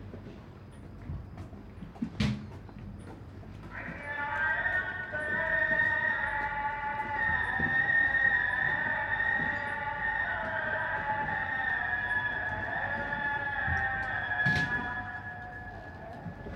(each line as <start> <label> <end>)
3.6 Muezzin call to prayer 16.5